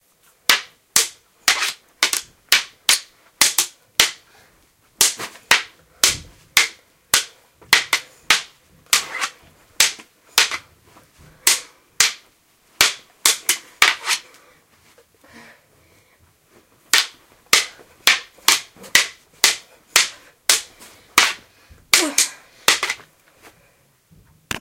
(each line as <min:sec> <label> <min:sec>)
0:00.5 Training Swords Swordfight 0:04.3
0:05.0 Training Swords Swordfight 0:10.7
0:11.3 Training Swords Swordfight 0:14.4
0:16.9 Training Swords Swordfight 0:23.1